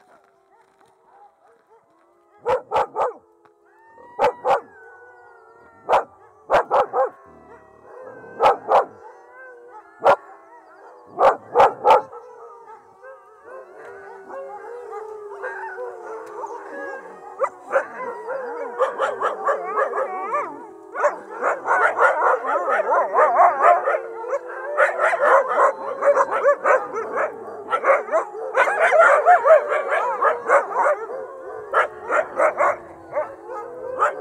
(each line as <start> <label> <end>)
0.0 huskies 34.2
5.8 dog communicated 13.0